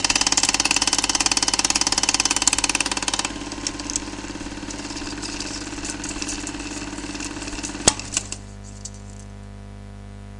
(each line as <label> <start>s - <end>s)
flushing cinema projector 0.0s - 8.5s